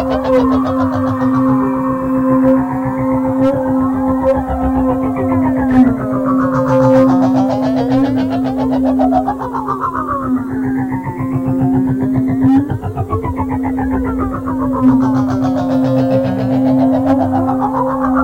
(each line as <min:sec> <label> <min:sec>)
0:00.0 drone 0:18.2